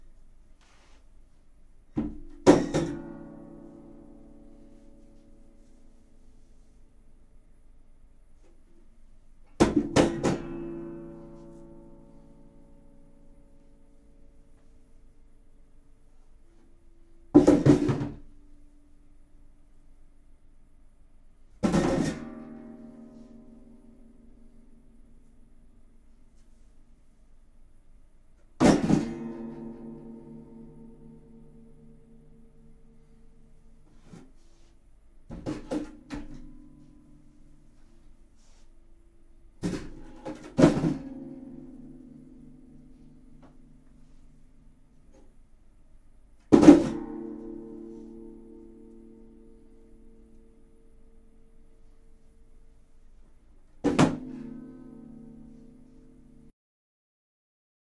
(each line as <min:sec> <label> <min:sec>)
0:02.0 small sized guitar hitting the ground 0:03.4
0:09.6 small sized guitar hitting the ground 0:11.5
0:28.6 small sized guitar hitting the ground 0:30.8
0:35.3 small sized guitar hitting the ground 0:37.0
0:39.6 small sized guitar hitting the ground 0:42.5
0:46.5 small sized guitar hitting the ground 0:48.3